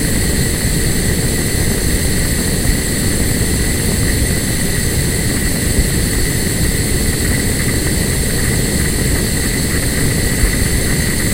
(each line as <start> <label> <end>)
0.0 little flame of a gas stove 11.3